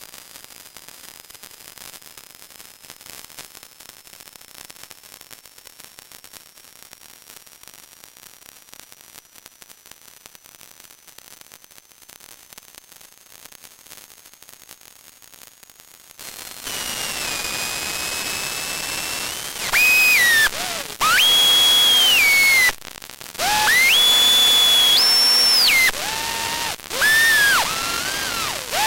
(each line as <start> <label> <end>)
16.2 static 28.8